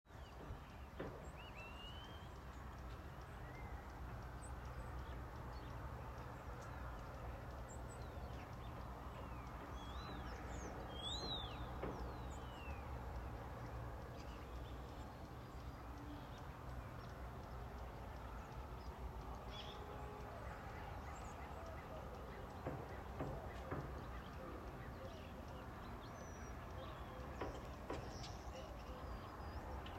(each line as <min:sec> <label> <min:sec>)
0:00.1 traffic 0:29.9
0:02.3 framing of thr new house 0:29.9